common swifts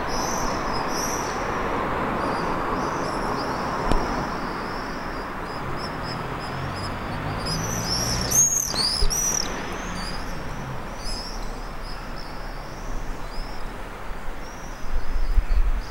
4.3s 13.9s

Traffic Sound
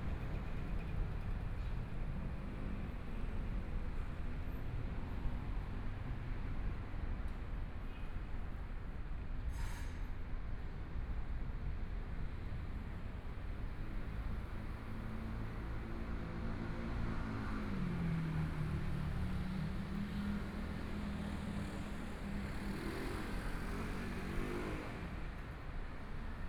13.6s 26.4s

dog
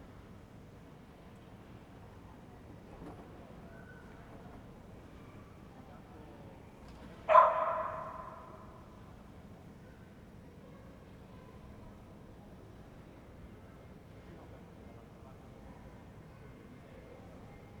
7.3s 8.6s

